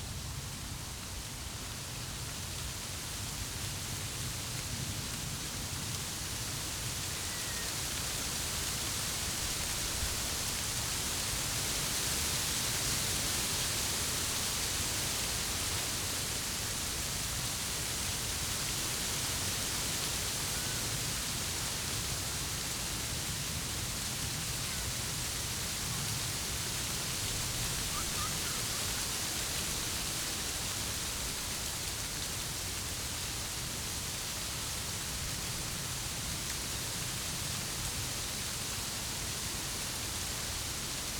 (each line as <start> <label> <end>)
0.0 wind in a hazelnut bush 41.1